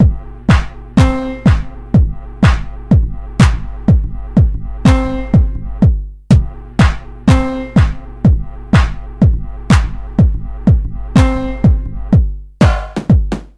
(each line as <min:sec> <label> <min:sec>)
0:00.0 beats 0:13.5